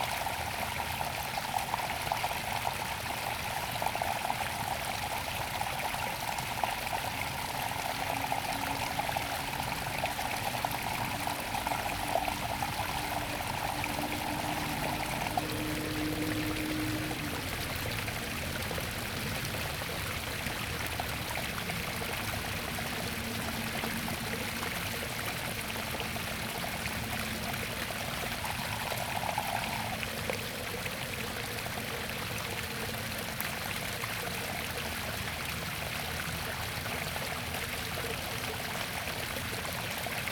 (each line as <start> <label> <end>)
0.0 water 40.3